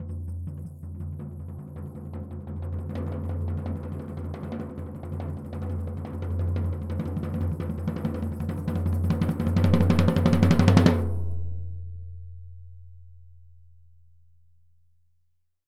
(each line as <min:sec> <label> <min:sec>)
0:00.0 shaker 0:11.5
0:00.0 floor tom-slow roll 0:13.4